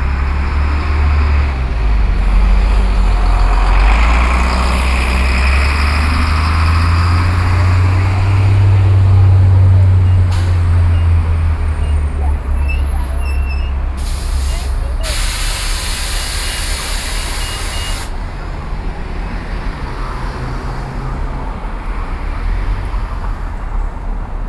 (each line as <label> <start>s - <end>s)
Bus 0.0s - 24.4s
Road traffic 0.0s - 24.4s